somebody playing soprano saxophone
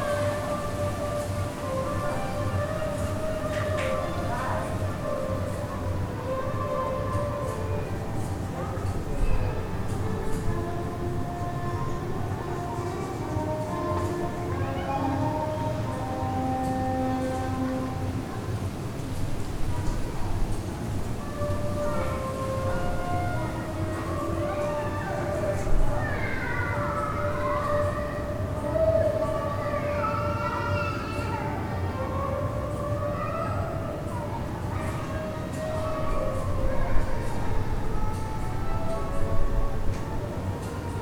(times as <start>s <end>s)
0.0s 18.7s